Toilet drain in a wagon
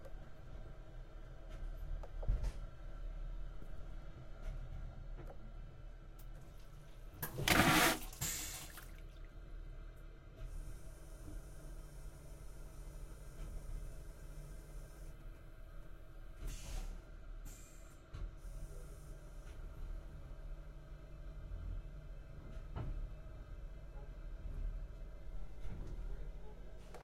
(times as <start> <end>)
6.3 9.4